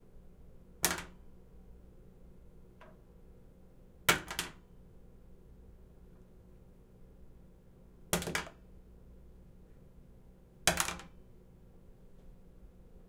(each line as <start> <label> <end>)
0.8 dropping a toothbrush at different distances onto a counter 1.2
4.1 dropping a toothbrush at different distances onto a counter 4.6
8.2 dropping a toothbrush at different distances onto a counter 8.6
10.7 dropping a toothbrush at different distances onto a counter 11.2